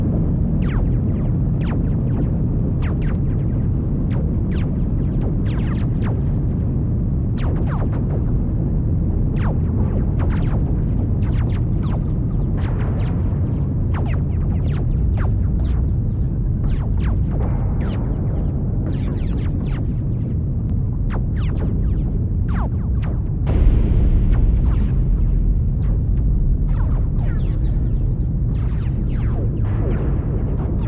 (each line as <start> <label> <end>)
19.9 Low huge rumble 30.8